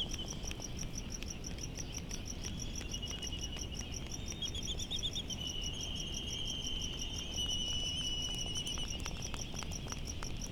cricket 0.0 - 10.5

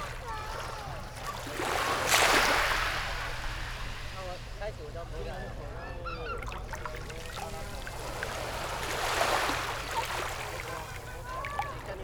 waves 0.0 - 12.0
Birdsong sound 5.1 - 12.0

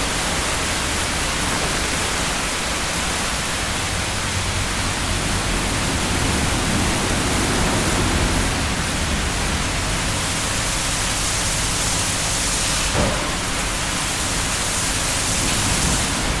petrol station carwash in action 0.0 - 16.4

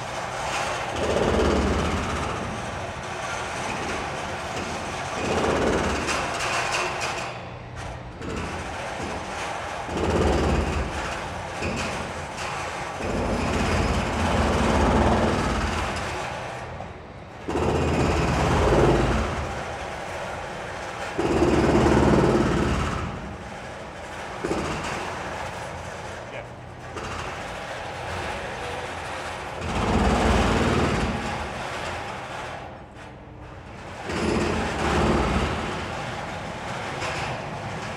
demolition sounds 0.2 - 37.9
drilling 21.2 - 23.4
drilling 29.3 - 31.6

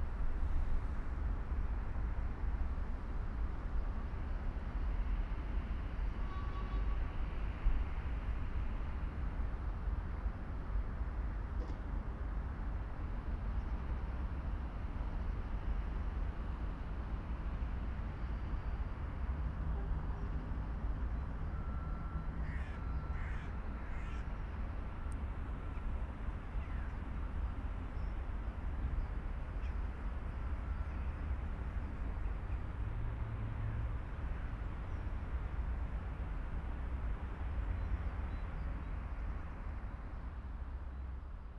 Passing train 0.0 - 11.6
Passing train 12.2 - 41.5

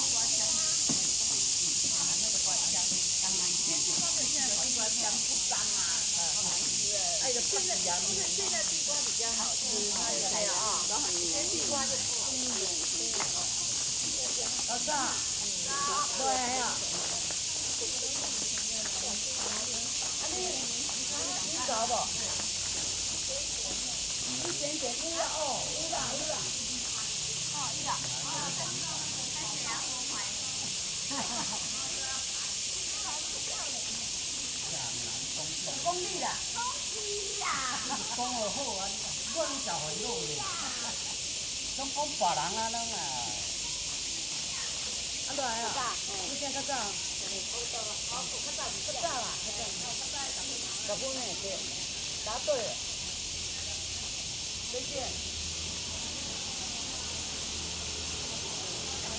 Cicadas cry 0.0 - 59.1
Pebbles on the ground 10.4 - 33.0
Footsteps 10.8 - 25.4

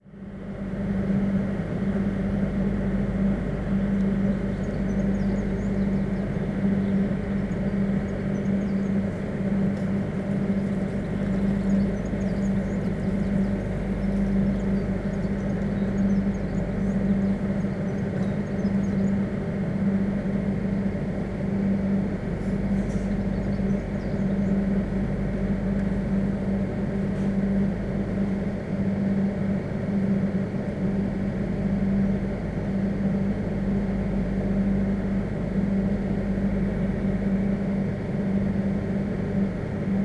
generator hum 0.0 - 40.0

